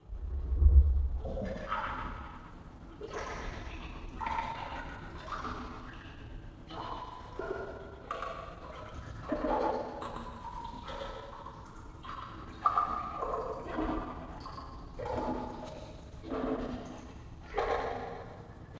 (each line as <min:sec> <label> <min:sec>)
0:02.8 swirl water in a glass bowl 0:18.6